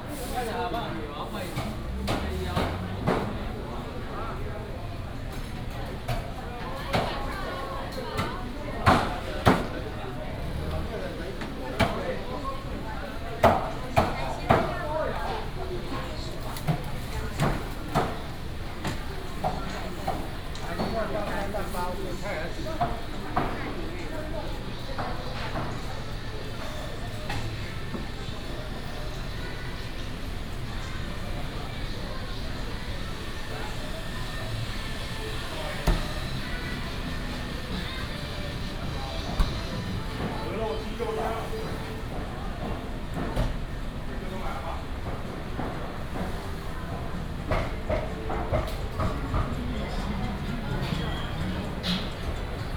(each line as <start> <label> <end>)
1.3 Traffic sound 7.1
7.7 Traffic sound 44.1